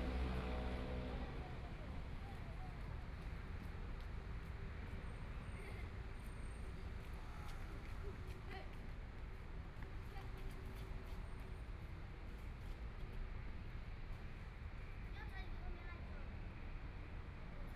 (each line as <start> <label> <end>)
0.0 Traffic Sound 17.6